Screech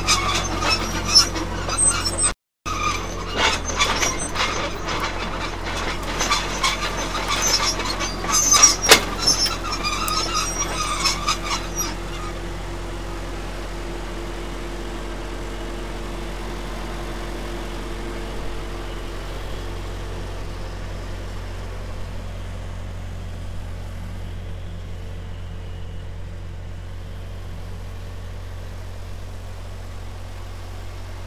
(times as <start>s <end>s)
0.0s 12.4s